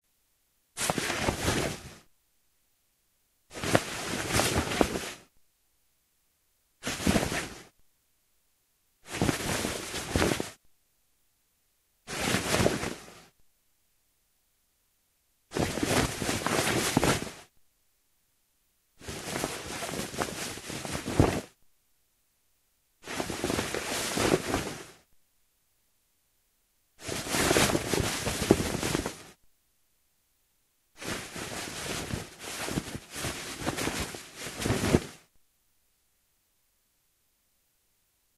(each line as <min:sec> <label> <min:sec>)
0:03.5 Jacket Handling 0:05.2
0:09.1 Jacket Handling 0:10.5
0:27.0 Jacket Handling 0:29.3
0:31.0 Jacket Handling 0:35.2